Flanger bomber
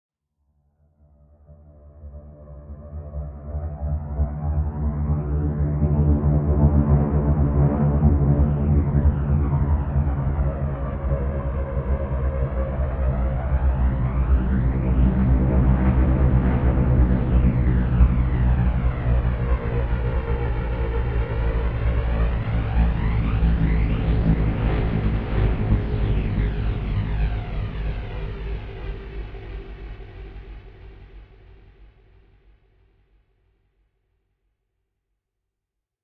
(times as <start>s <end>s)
8.4s 31.6s